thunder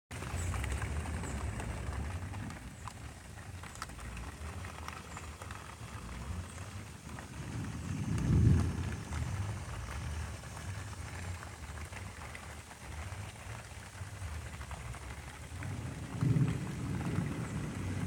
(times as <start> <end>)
7.0 11.0, 15.6 18.0